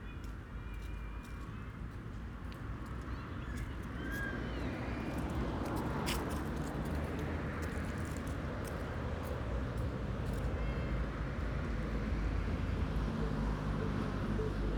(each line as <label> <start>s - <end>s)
less traffic is flowing, passing in groups 0.0s - 14.7s